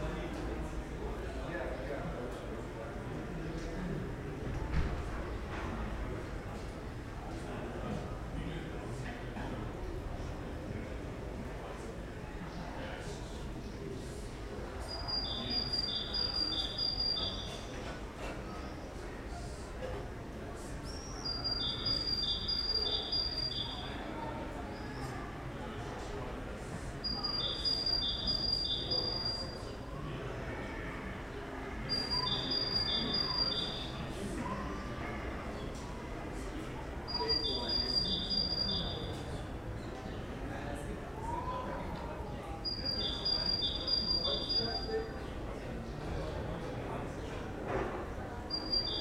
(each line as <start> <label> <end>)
14.9 birds 17.8
20.9 birds 24.0
27.1 birds 29.6
31.9 birds 34.1
37.1 birds 40.3
48.5 birds 49.0